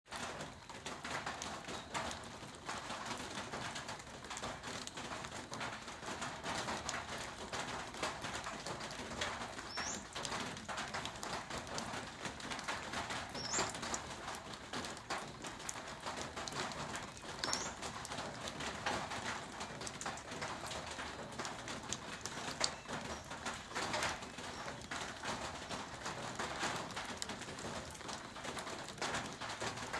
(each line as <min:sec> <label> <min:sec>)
0:00.1 Drizzle drips from awning 0:29.9